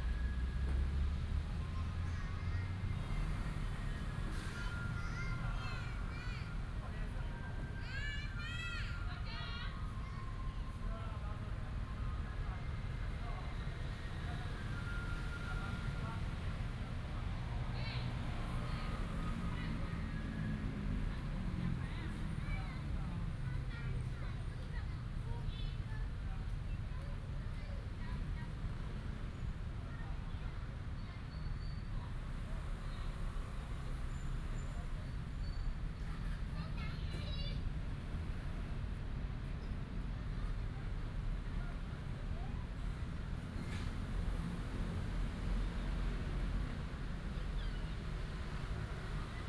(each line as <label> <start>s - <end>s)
Traffic sound 0.0s - 49.4s
Child 1.6s - 10.7s
Child 21.8s - 28.6s
Child 36.0s - 37.7s